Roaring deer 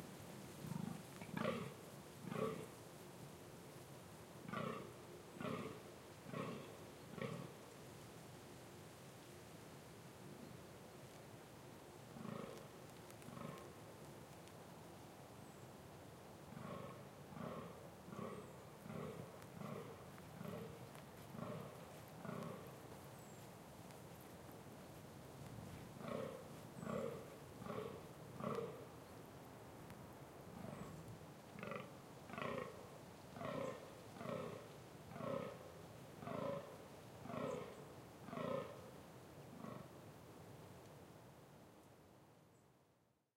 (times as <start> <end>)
0.6 2.7, 4.5 7.6, 12.2 12.6, 13.3 13.7, 16.5 23.4, 25.7 28.9, 30.6 31.0, 31.6 32.8, 33.4 35.6, 36.2 38.8